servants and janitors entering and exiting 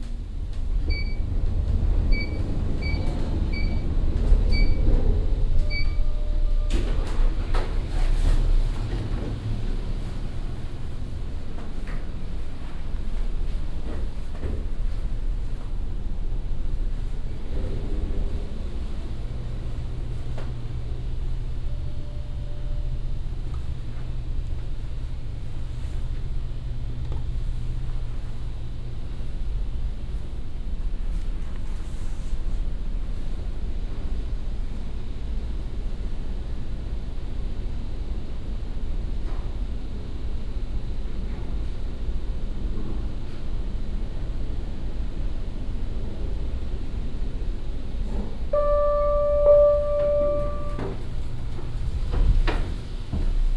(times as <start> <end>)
0.1 22.5, 48.2 53.5